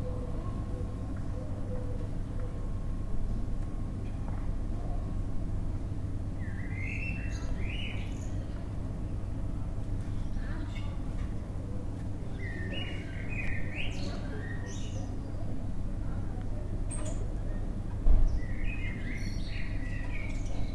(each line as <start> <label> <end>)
0.0 traffic noise in the distance 20.7
6.3 birds 9.4
9.4 voices 20.7
10.0 birds 15.7
16.9 birds 20.7